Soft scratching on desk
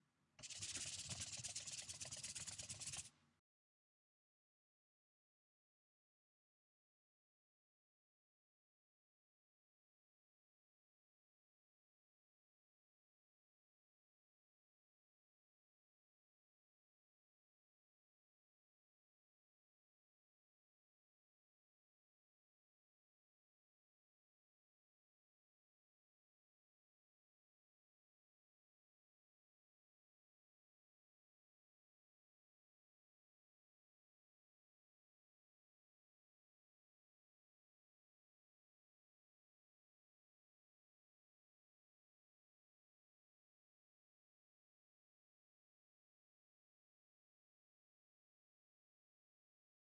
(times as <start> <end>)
0.4 3.1